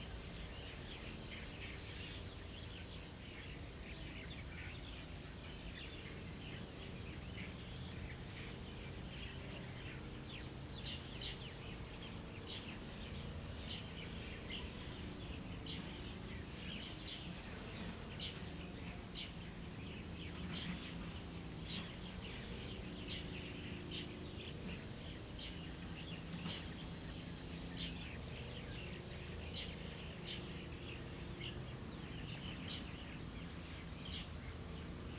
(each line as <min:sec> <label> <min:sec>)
0:00.0 Birds singing 0:35.1